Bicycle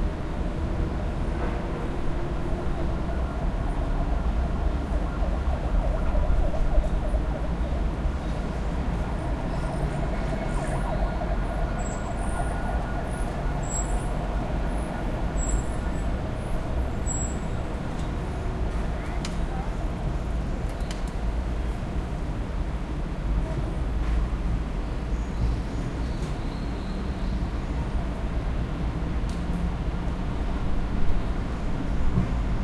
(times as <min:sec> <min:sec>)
0:16.9 0:22.2